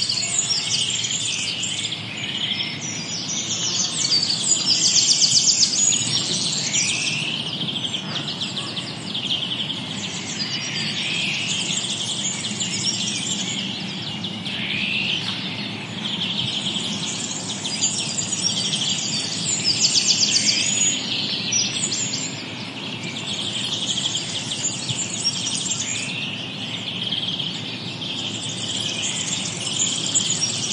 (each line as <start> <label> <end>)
0.0 Blackbird 30.7
0.0 Warbler 30.7